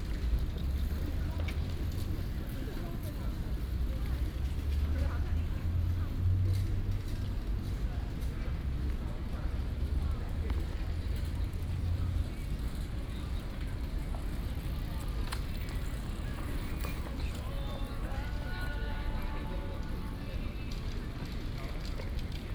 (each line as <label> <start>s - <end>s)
Bicycle sound 11.4s - 22.5s